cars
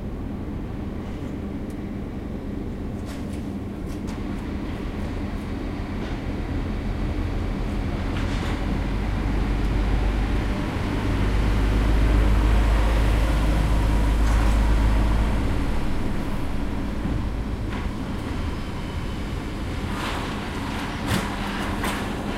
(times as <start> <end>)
8.1 22.3